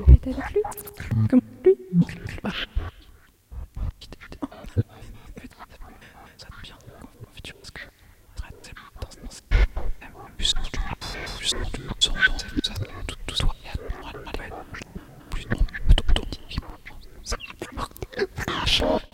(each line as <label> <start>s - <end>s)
female voices 0.0s - 2.2s